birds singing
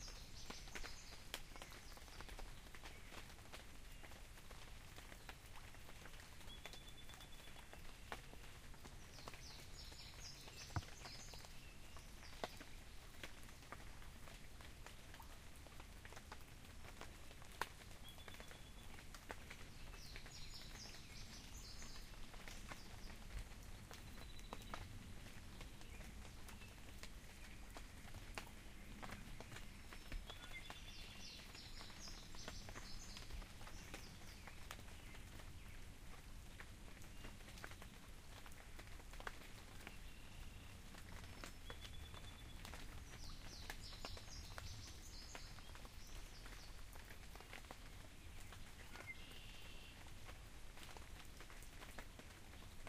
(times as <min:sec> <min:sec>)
0:09.0 0:12.8, 0:19.7 0:23.2, 0:28.9 0:35.2, 0:41.4 0:46.8